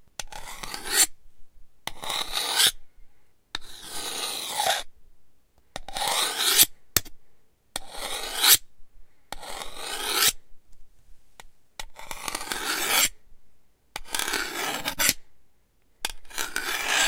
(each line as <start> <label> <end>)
0.3 Sharpening a knife 1.1
1.9 Sharpening a knife 2.8
3.6 Sharpening a knife 4.9
5.9 Sharpening a knife 7.1
7.8 Sharpening a knife 8.6
9.4 Sharpening a knife 10.4
12.0 Sharpening a knife 13.1
14.0 Sharpening a knife 15.2
16.3 Sharpening a knife 17.0